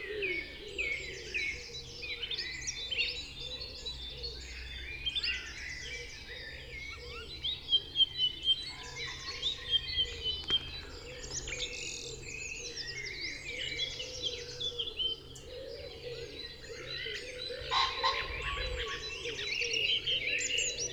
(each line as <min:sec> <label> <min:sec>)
0:00.0 blackbird 0:20.9
0:05.2 great spotted woodpecker 0:20.9
0:05.2 pheasant 0:20.9